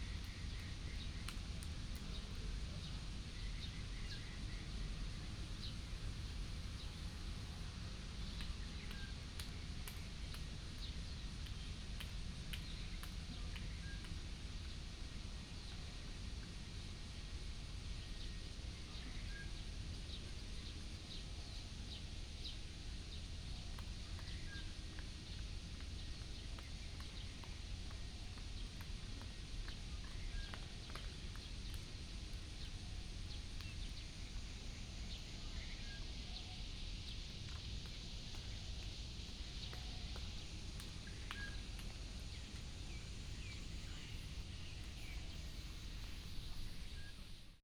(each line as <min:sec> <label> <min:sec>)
0:37.5 Birds sound 0:47.5